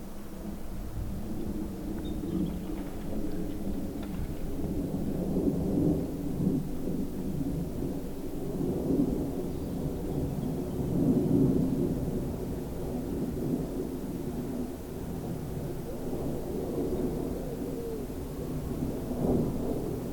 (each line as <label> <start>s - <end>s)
plane 0.0s - 20.1s